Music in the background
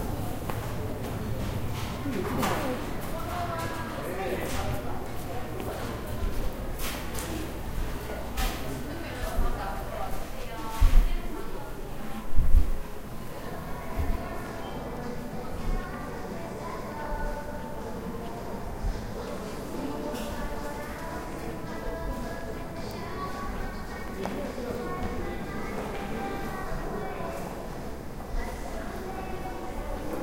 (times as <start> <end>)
13.8 30.2